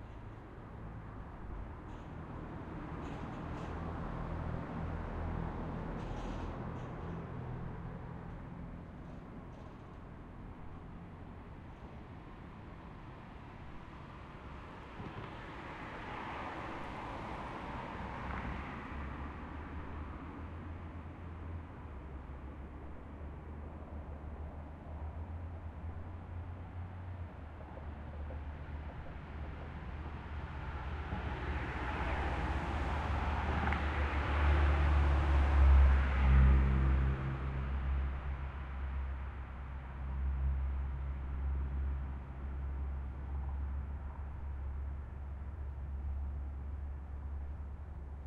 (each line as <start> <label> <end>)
0.0 cars 48.2
26.9 passing by trams 35.2